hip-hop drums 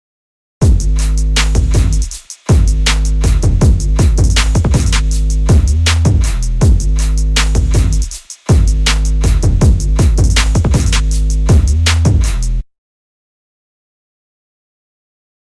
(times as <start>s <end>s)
0.6s 12.6s